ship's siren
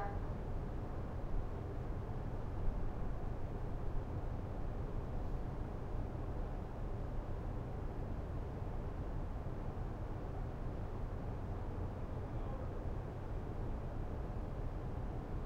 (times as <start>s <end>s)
0.0s 0.3s